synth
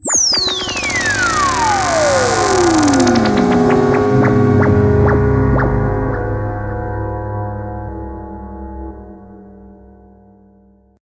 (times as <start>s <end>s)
0.0s 7.6s